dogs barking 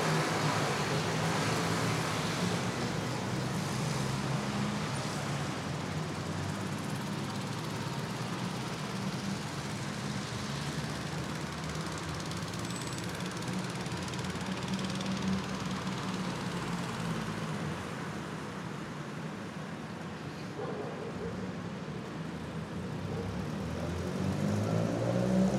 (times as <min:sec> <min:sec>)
0:20.5 0:21.5